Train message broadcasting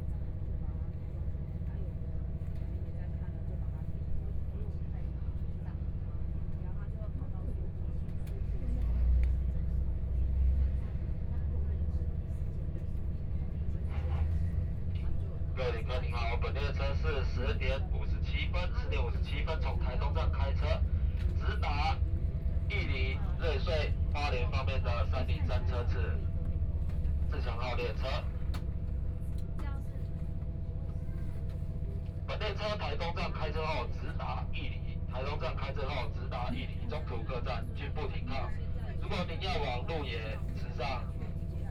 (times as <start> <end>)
13.8 30.7, 31.3 41.7